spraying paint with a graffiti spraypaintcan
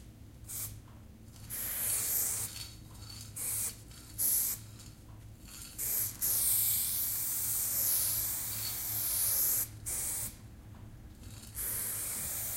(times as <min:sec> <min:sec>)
0:00.5 0:00.7, 0:01.4 0:04.7, 0:05.5 0:10.4, 0:11.2 0:12.5